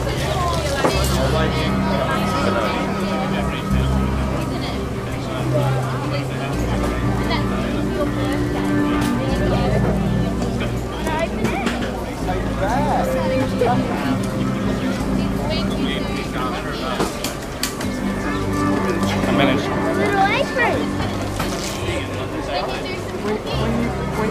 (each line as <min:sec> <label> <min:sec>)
0:00.0 Man playing double bass 0:24.3
0:00.0 family and friends chatting 0:24.3
0:00.0 stall holders selling goods 0:24.3